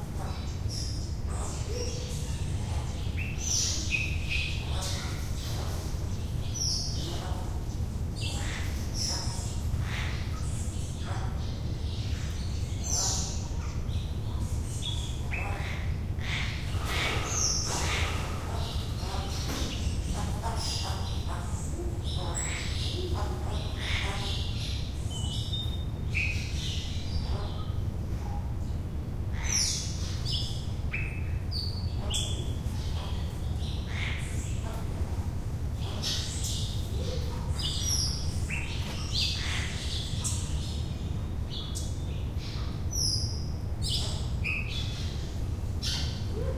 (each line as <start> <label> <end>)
0.0 birds calling and flying around 46.5